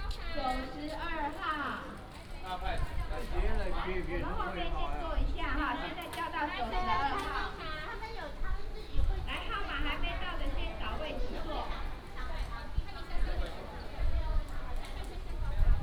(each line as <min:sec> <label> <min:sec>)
0:00.0 Many elderly people line up 0:15.8